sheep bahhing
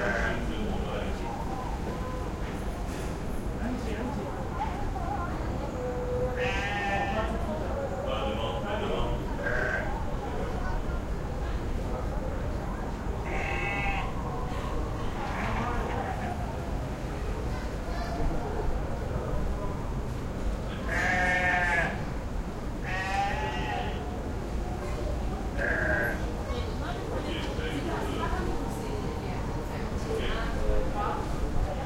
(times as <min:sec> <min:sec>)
0:13.2 0:14.1